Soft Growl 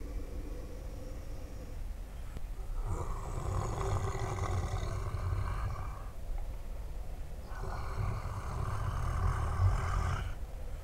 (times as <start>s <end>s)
0.0s 1.9s, 2.6s 6.2s, 7.4s 10.4s